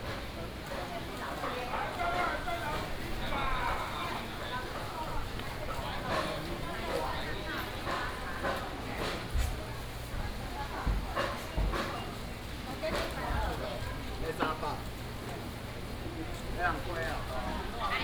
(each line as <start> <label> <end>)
0.0 Walking in the traditional market 18.0